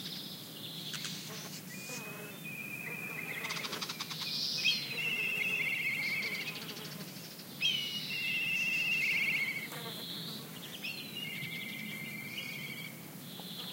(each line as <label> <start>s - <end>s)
warbler calls 0.0s - 13.7s